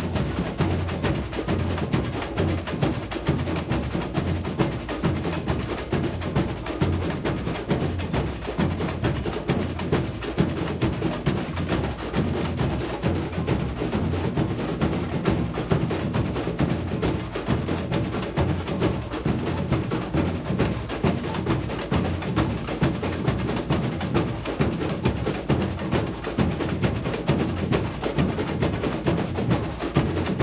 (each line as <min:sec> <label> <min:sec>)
0:00.0 Samba batucada rehearsal 0:30.4
0:00.0 caixa 0:30.4